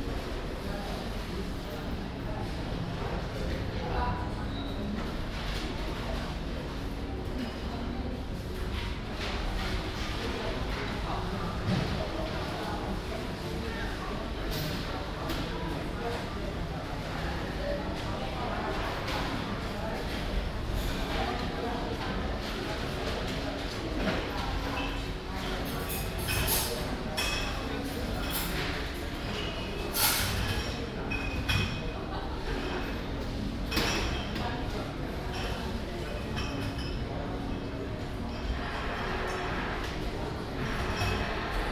chatting and walking people 0:00.0 - 0:41.7

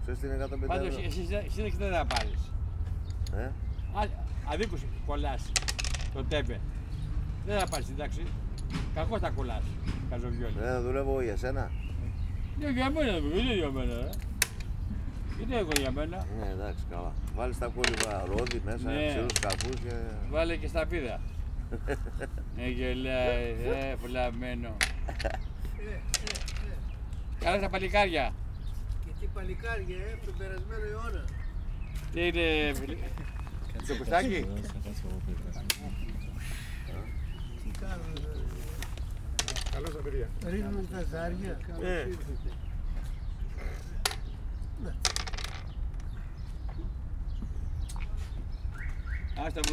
elderly men talking 0:00.0 - 0:49.7
playing backgammon 0:00.8 - 0:02.5
playing backgammon 0:04.2 - 0:10.5
playing backgammon 0:12.0 - 0:28.0
playing backgammon 0:32.8 - 0:42.6
playing backgammon 0:43.6 - 0:46.8
playing backgammon 0:49.4 - 0:49.7

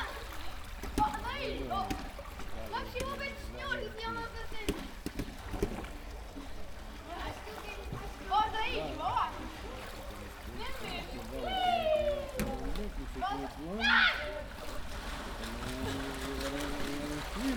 people swimming 0:00.0 - 0:17.5
people talking 0:15.4 - 0:17.5

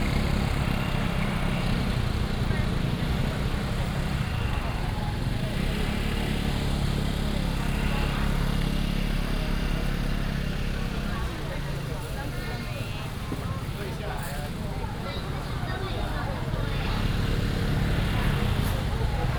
Walking in the market 0:00.0 - 0:19.3

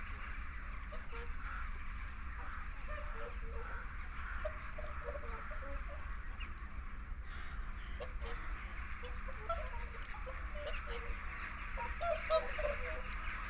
flock of barnacle geese over fly the hide 0:00.0 - 0:13.4
moorhen 0:00.2 - 0:13.4
mallard 0:00.9 - 0:13.4

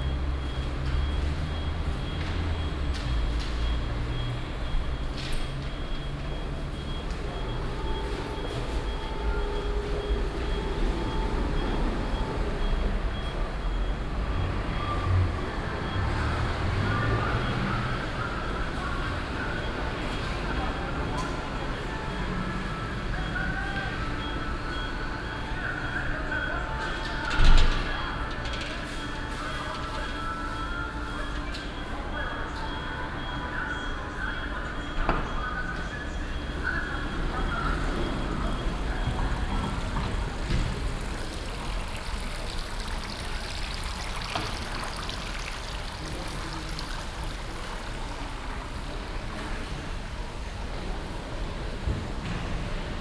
geldautomaten 0:38.8 - 0:49.2

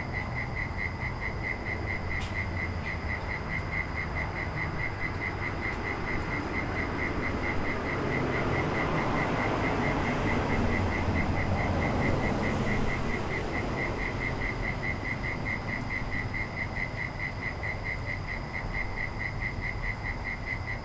Crickets 0:00.0 - 0:20.8
traffic 0:00.0 - 0:20.8
planes 0:04.9 - 0:16.6

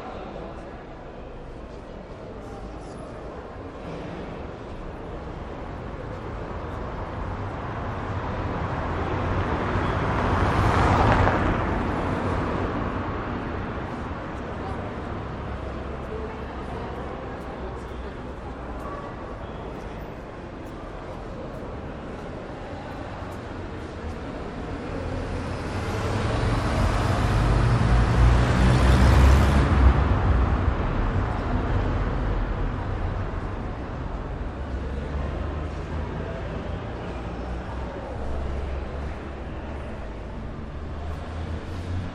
cars start driving trough the gate 0:00.6 - 0:42.1

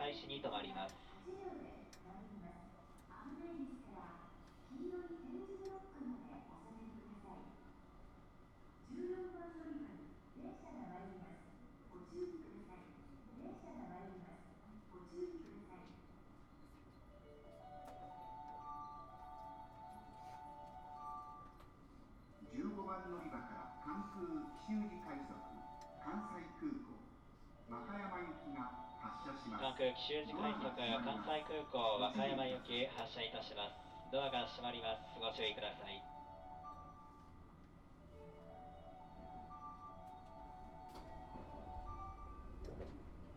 announcements 0:00.0 - 0:02.1
announcements 0:22.4 - 0:26.7
announcements 0:27.6 - 0:37.3
announcements 0:37.9 - 0:43.3
train 0:41.0 - 0:43.3

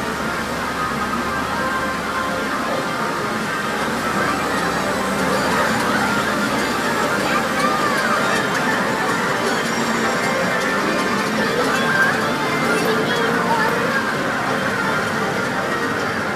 pachinko parlor 0:00.0 - 0:16.3

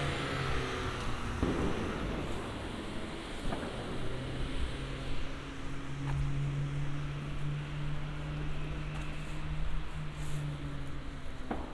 few people in the streets 0:00.0 - 0:11.7
fireworks 0:01.4 - 0:04.9
fireworks 0:11.4 - 0:11.7

